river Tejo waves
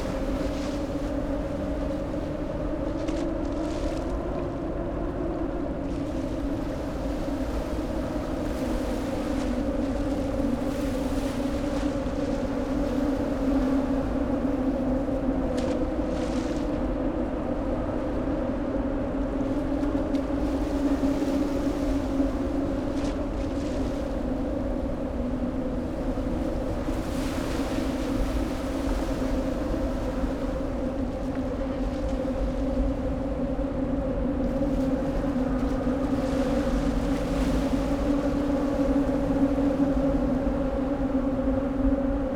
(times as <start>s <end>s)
19.5s 42.3s